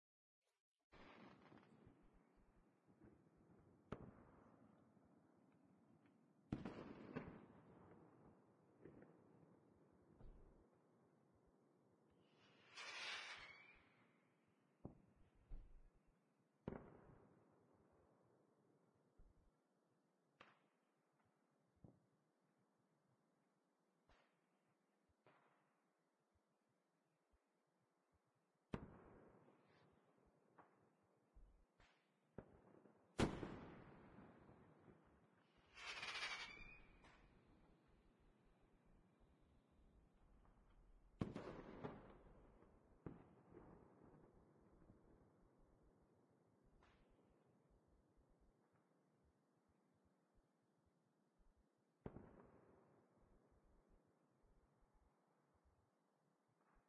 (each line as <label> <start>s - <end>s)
fireworks 1.0s - 5.1s
fireworks 6.5s - 10.5s
fireworks 12.2s - 15.8s
fireworks 16.6s - 17.5s
fireworks 28.7s - 30.9s
fireworks 31.8s - 37.9s
fireworks 40.4s - 45.4s
fireworks 46.6s - 47.4s
fireworks 52.0s - 53.5s